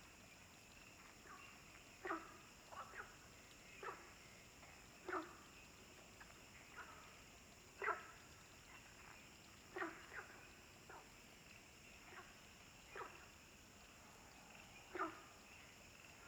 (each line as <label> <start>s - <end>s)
Frogs chirping 0.8s - 16.2s